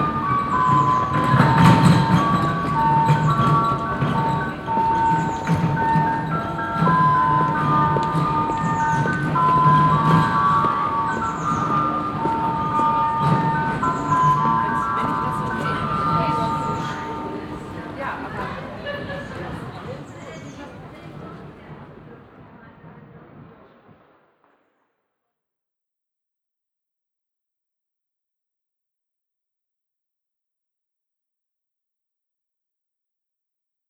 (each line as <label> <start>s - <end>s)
bell play 0.0s - 18.5s